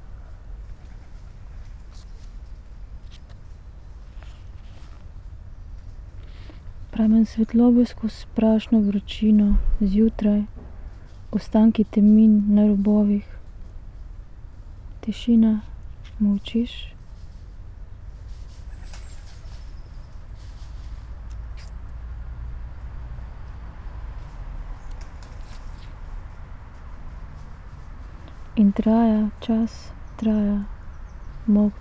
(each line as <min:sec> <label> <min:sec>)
0:06.2 reading poem 0:13.6
0:14.5 reading poem 0:18.3
0:28.1 reading poem 0:31.8